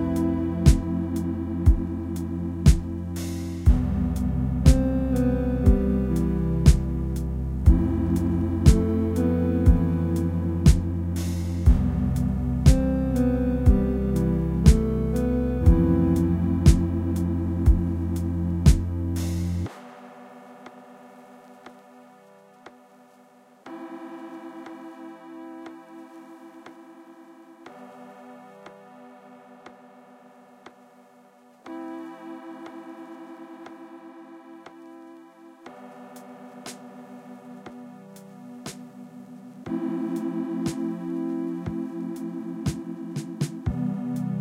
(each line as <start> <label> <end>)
0.0 beat 21.9
0.0 Fuzzy Lofi Synth Song 44.4
39.7 beat 44.4